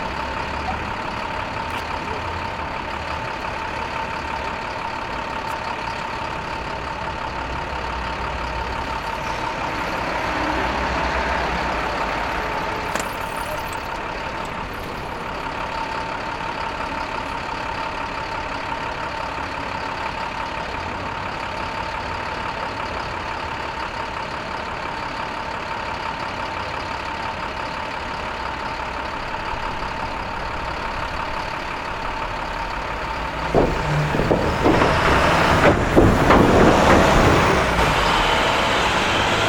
Traffic rolling over large construction steel plates 0:00.0 - 0:39.4

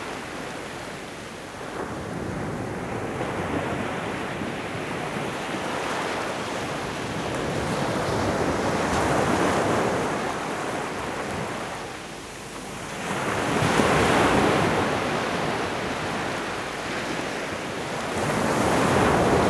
waves on the beach 0:13.0 - 0:19.4

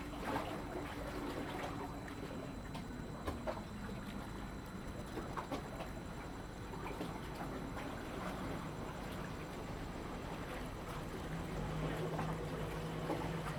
Waves 0:10.3 - 0:13.5

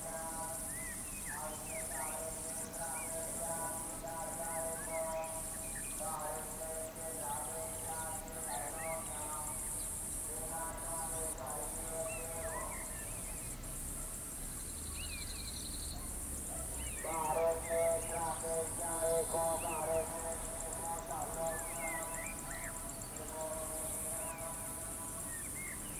distant amplified voice echoing from the hills 0:00.0 - 0:13.4
distant amplified voice echoing from the hills 0:16.0 - 0:25.9

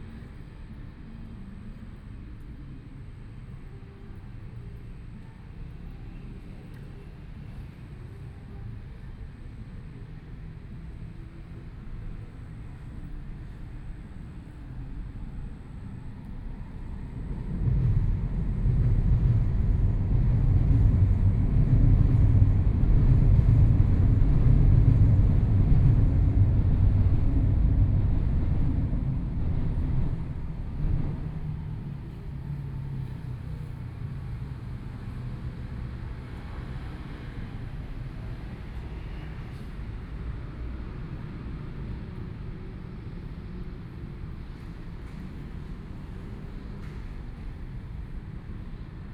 MRT train sounds 0:00.0 - 0:49.1
Traffic Sound 0:10.4 - 0:49.1

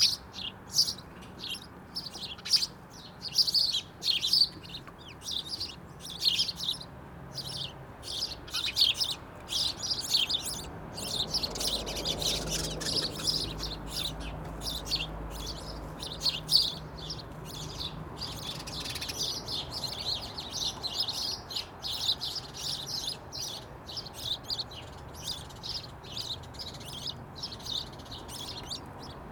House Sparrows 0:00.0 - 0:29.3

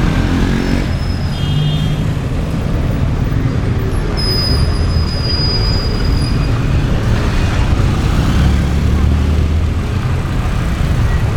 engines of the cars and buses 0:00.0 - 0:11.3
people riding their bicycles at a considerable speed 0:00.0 - 0:11.3
whistles of cars and motorcycles 0:00.7 - 0:02.1
whistles of cars and motorcycles 0:04.1 - 0:06.6

